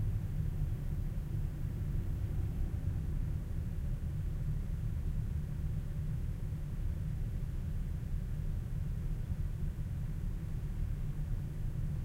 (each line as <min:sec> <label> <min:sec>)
0:00.0 train 0:12.0